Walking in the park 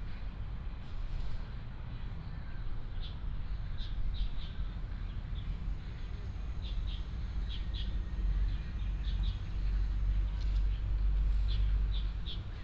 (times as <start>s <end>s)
6.2s 12.6s